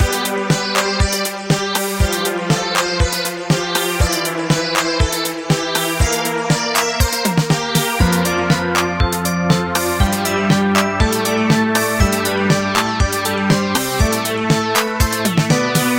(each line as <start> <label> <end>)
0.0 synth 15.9
7.8 melody 15.9